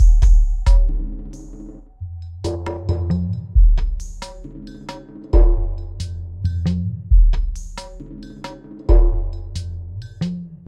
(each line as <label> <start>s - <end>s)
drum 0.0s - 1.8s
drum 2.4s - 10.6s